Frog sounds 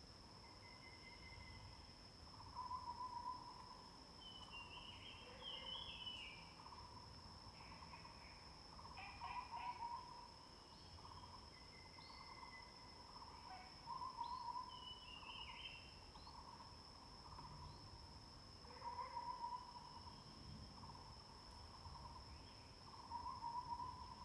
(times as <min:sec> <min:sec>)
0:08.8 0:10.3, 0:18.6 0:19.9